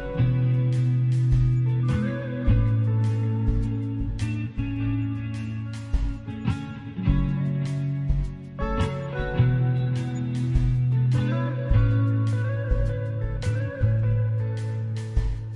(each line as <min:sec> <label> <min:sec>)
0:00.0 drums 0:15.5
0:00.0 guitar 0:15.5